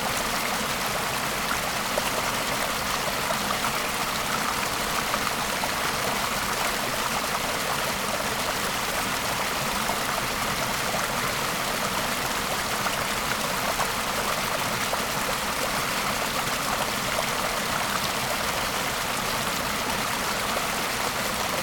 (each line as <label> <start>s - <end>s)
Cooling stream 0.0s - 21.6s